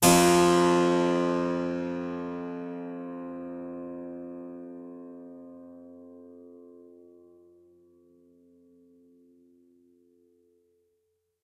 0.0s Harpsichord 4.9s

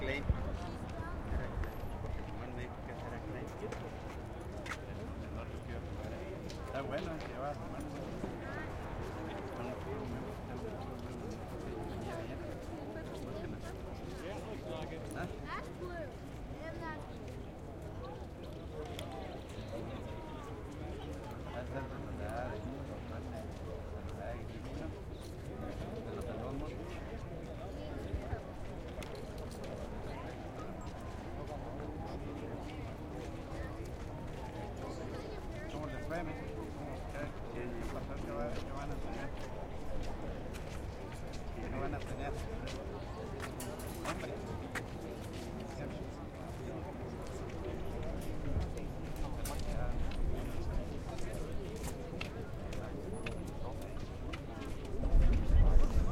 0.0s crowd mulling about between races 56.1s

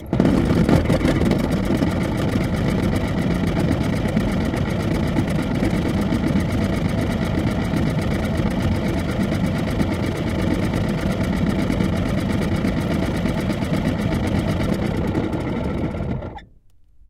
0.0s heater in an old Volvo station wagon spins up, runs, and stops 16.5s

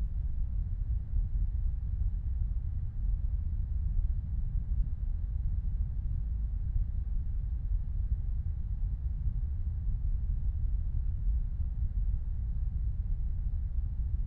0.0s Low Rumble 14.2s

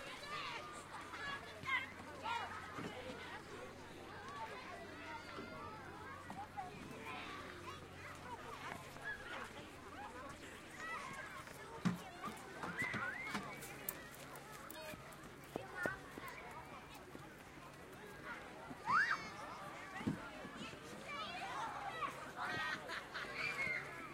0.0s children 24.1s

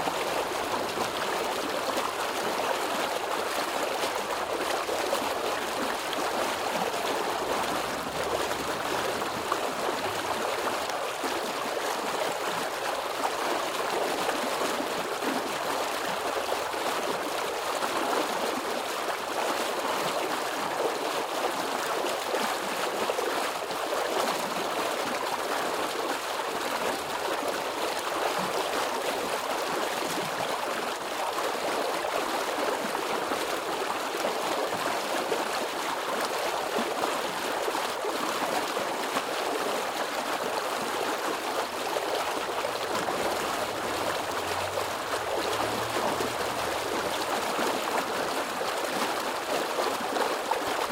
42.4s Water leak 48.2s

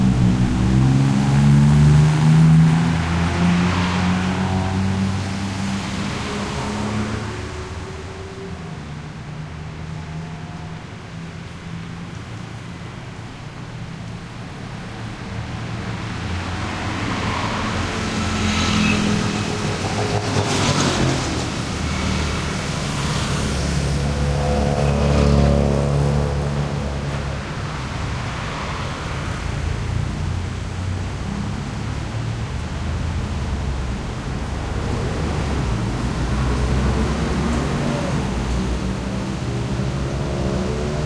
0.0s traffic 41.0s
14.9s motorcycles 41.0s

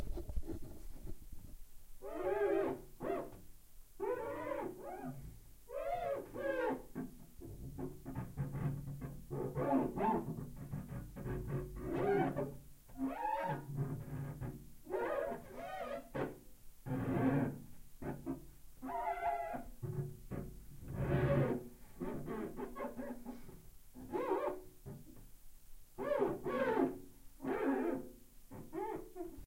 2.0s squeak 3.4s
4.0s squeak 6.8s
8.1s squeak 23.4s
24.0s squeak 24.6s
26.0s squeak 29.4s

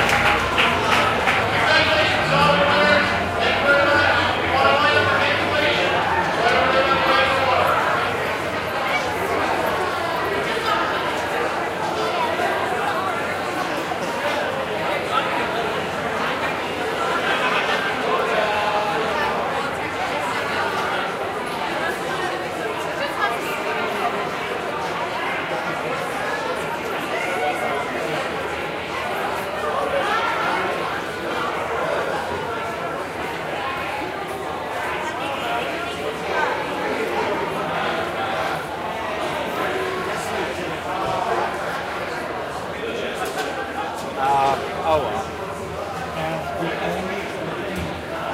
0.0s cheering 7.7s

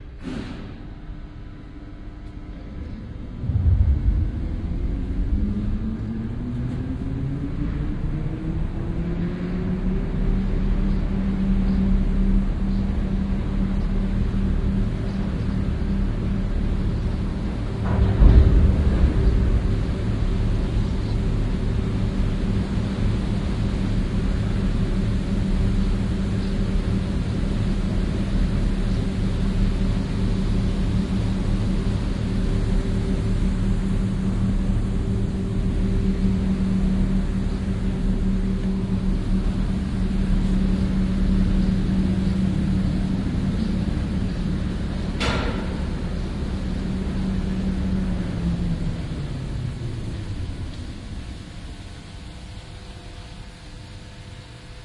2.8s lifting 7000 tons 8.8s

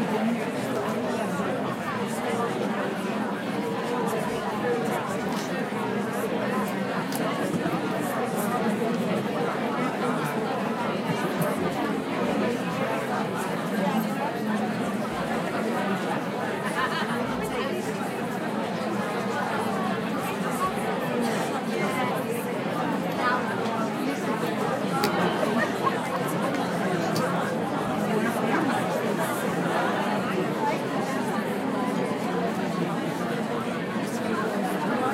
24.3s audience waiting 27.4s

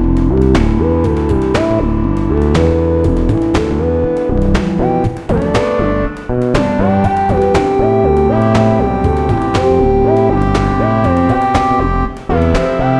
0.0s bass 12.9s
0.0s synth 12.9s
0.0s vocoder 12.9s

